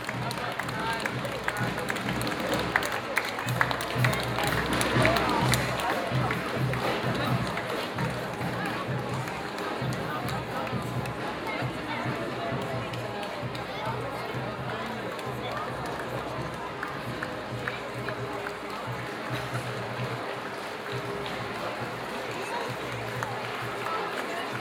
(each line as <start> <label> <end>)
0.0 applause 24.6